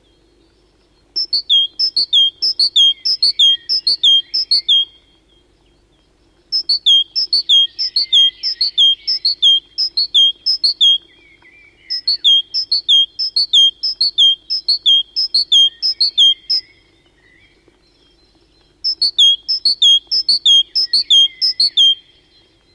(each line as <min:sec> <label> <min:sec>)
0:00.0 other birds in the bg 0:22.7
0:01.2 great tit singing a three-part verse 0:05.0
0:06.5 great tit singing a three-part verse 0:11.1
0:11.7 great tit singing a three-part verse 0:16.7
0:18.8 great tit singing a three-part verse 0:22.1